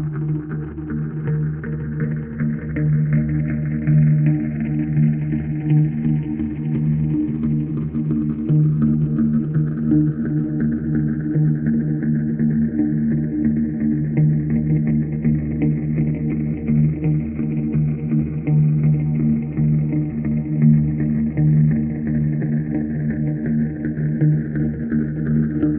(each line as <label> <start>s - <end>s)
bass 0.0s - 25.7s
guitar 0.0s - 25.7s